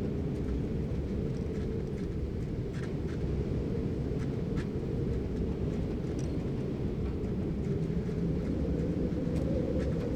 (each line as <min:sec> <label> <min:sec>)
0:00.0 wind W 60km/h 0:10.1